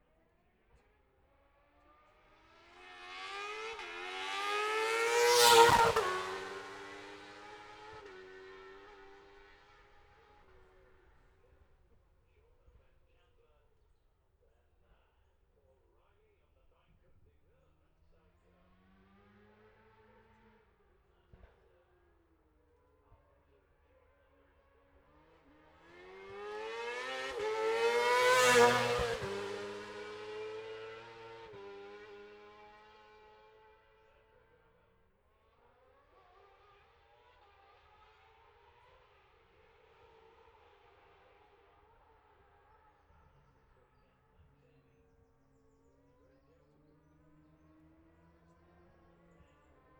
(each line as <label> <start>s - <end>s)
F2 sidecars 2.4s - 11.2s
F2 sidecars 25.2s - 33.0s